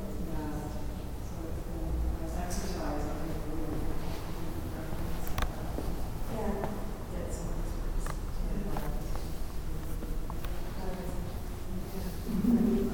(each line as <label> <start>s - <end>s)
people talking 0.0s - 12.9s
footsteps 3.5s - 6.9s
footsteps 8.1s - 12.9s